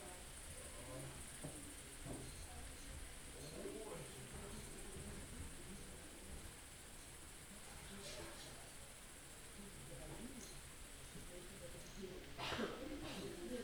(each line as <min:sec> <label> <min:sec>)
0:00.0 Crickets 0:13.6